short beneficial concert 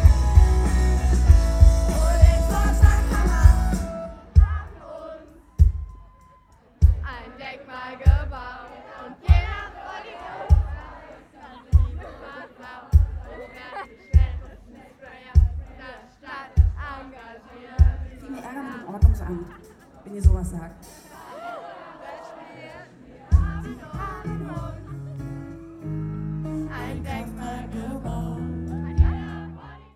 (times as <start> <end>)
0.0 7.3, 18.0 29.7